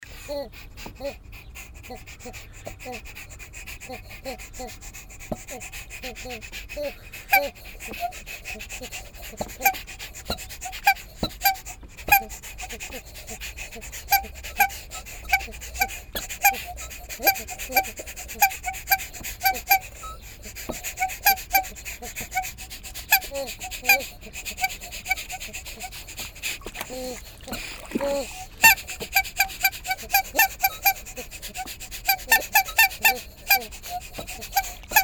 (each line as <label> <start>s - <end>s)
Quietsch Pumpen 0.6s - 35.0s